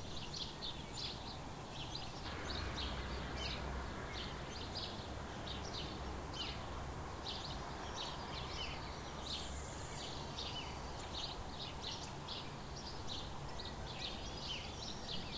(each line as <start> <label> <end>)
0.0 sparrows 15.3